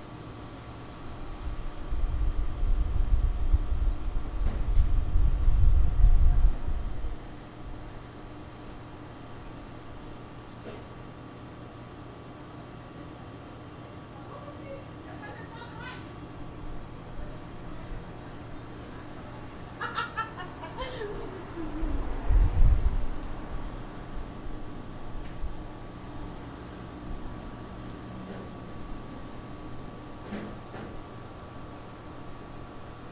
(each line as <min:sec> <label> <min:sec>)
0:00.0 Appliance hums 0:33.1
0:15.1 woman chuckles 0:16.1
0:19.8 woman chuckles 0:22.2